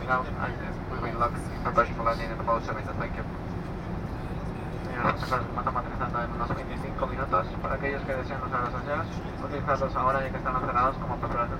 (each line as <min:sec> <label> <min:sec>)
0:00.0 Inside airplane during landing 0:11.5